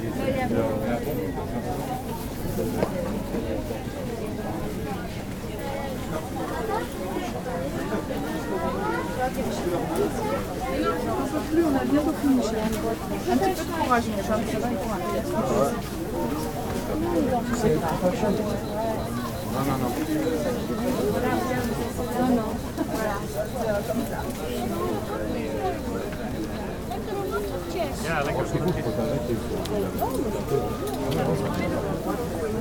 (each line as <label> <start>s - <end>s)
vistors passing by on the narrow road 0.0s - 32.6s